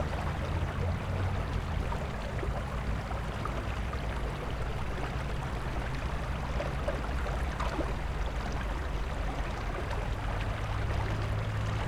urban river 0:00.0 - 0:11.8

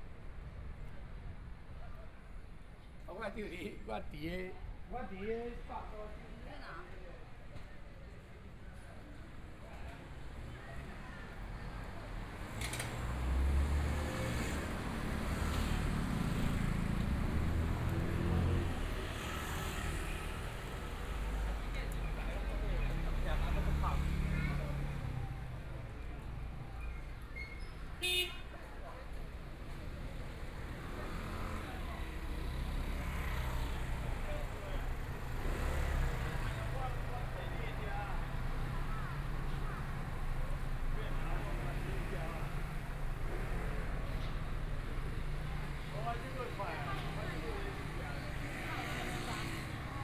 Pedestrian 0:00.0 - 0:50.0
Traffic Sound 0:09.4 - 0:50.0
Motorcycle sound 0:12.5 - 0:22.1

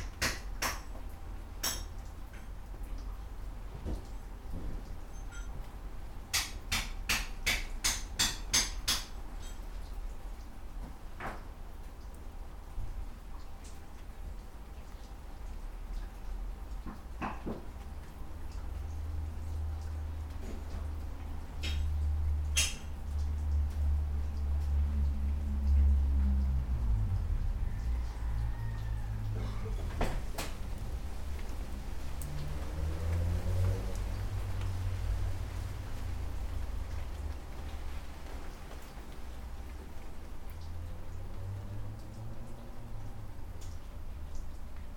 lashing with rain 0:00.0 - 0:44.9
man was repairing a stone wall 0:00.0 - 0:44.9

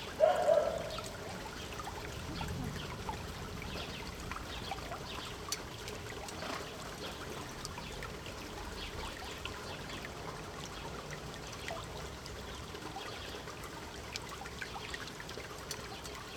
open canal at street level, clean water 0:00.0 - 0:16.3

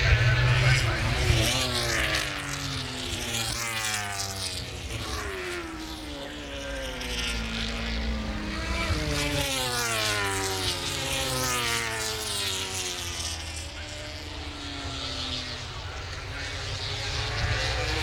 motogp warmup 0:00.0 - 0:18.0

